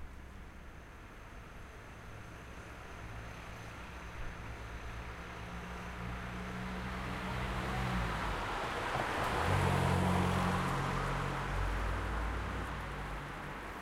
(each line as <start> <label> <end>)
0.0 traffic 13.8